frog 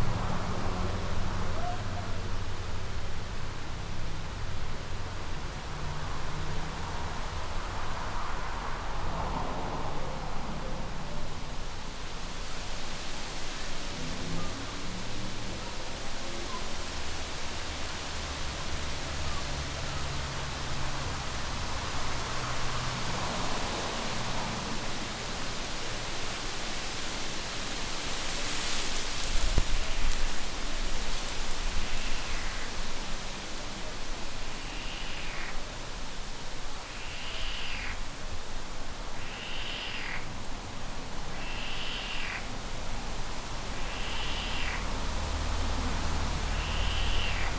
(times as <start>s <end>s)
31.8s 32.9s, 34.5s 35.7s, 36.8s 38.0s, 39.1s 40.3s, 41.2s 42.5s, 43.6s 45.0s, 46.4s 47.5s